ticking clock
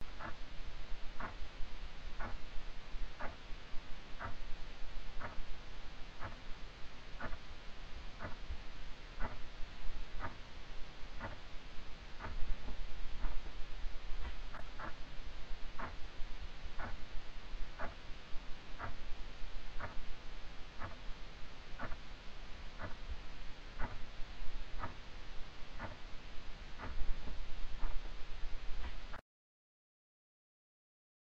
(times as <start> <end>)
0.2 0.4, 1.2 1.4, 2.2 2.4, 3.2 3.4, 4.2 4.4, 5.2 5.4, 6.2 6.4, 7.2 7.4, 8.2 8.4, 9.2 9.4, 10.2 10.4, 11.2 11.4, 15.8 16.0, 16.8 17.0, 17.8 18.0, 20.8 21.0, 21.8 22.0, 22.8 23.0, 23.8 24.0, 24.8 25.0, 25.8 26.0, 26.8 27.0